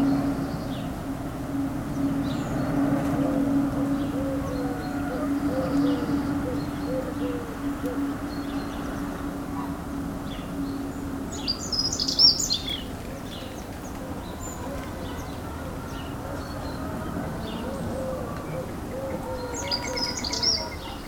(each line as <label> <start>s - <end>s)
rooster 14.6s - 21.0s